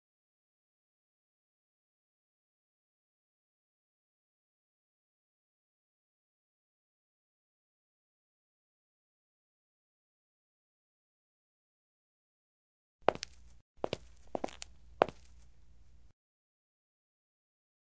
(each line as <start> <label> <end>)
13.0 step 16.1